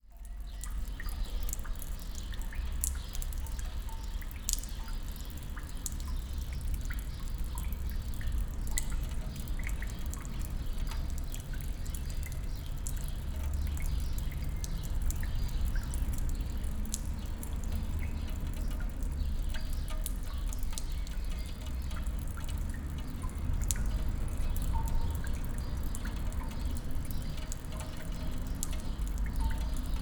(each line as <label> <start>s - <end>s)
dripping water 0.0s - 30.0s